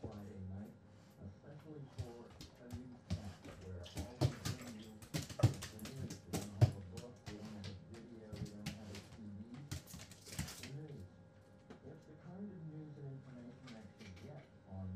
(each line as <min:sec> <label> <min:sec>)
0:00.0 feeding the dogs 0:11.7